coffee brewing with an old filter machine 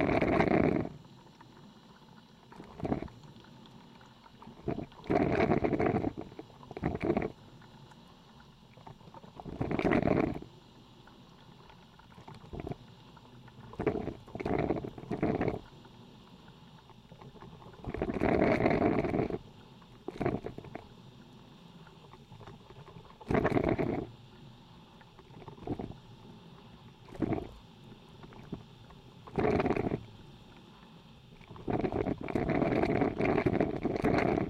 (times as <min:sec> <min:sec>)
0:00.0 0:01.6, 0:02.4 0:03.3, 0:04.3 0:07.7, 0:08.7 0:10.5, 0:11.3 0:15.7, 0:16.8 0:20.9, 0:22.1 0:24.1, 0:25.0 0:26.0, 0:27.0 0:27.6, 0:28.2 0:30.1, 0:31.3 0:34.4